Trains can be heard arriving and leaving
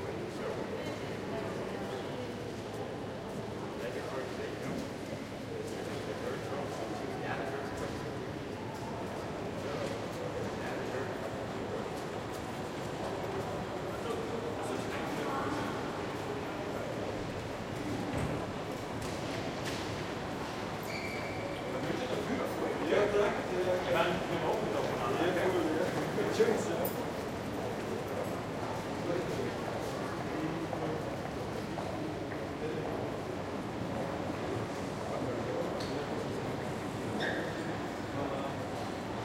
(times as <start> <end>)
21.4 39.2